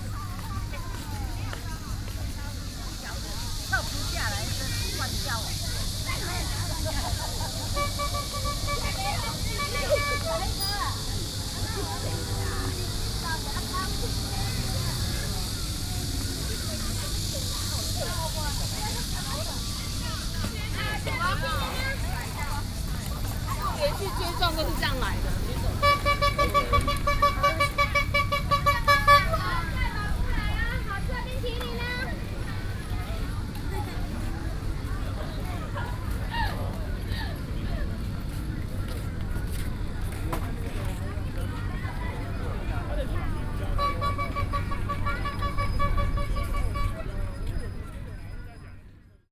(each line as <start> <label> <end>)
0.0 Vendors selling ice cream 49.3
0.1 Cicadas cry 33.8
43.3 Cicadas cry 47.5